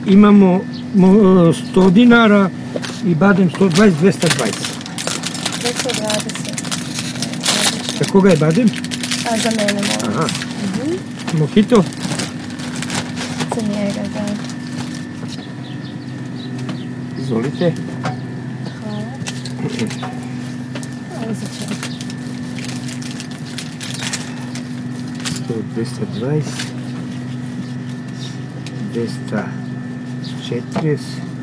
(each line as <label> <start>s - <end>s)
Ice cream guy 0.0s - 15.6s